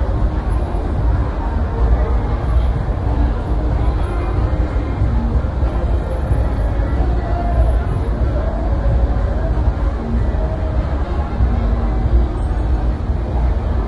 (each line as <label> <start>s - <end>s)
thick crowds 0.0s - 13.8s